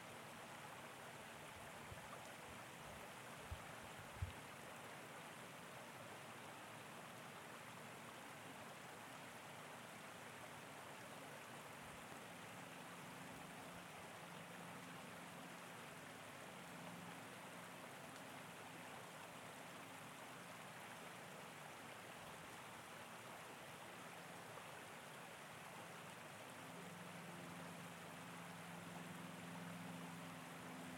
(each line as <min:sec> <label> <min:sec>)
0:00.0 Creek 0:30.9